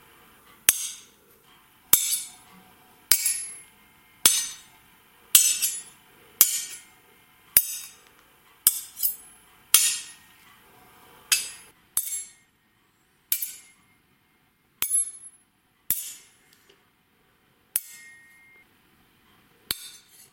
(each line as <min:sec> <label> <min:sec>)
0:00.7 Sword hits 0:01.1
0:05.4 Sword hits 0:06.8
0:09.8 Sword hits 0:10.2
0:15.9 Sword hits 0:16.3